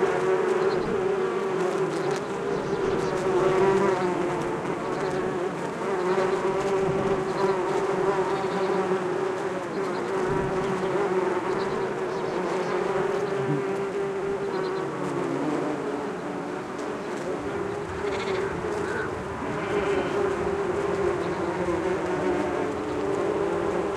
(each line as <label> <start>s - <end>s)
many bees, of various species foraging on a Cotoneaster plant 0.0s - 23.9s